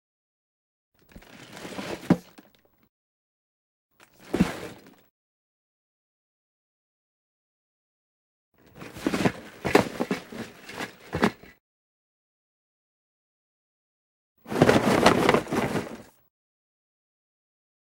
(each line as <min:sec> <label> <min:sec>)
0:01.0 dropping Legos and handling them 0:02.9
0:08.6 dropping Legos and handling them 0:11.6
0:08.7 Shaking a Lego Set box 0:11.5
0:14.5 Shaking a Lego Set box 0:16.2
0:14.5 dropping Legos and handling them 0:16.2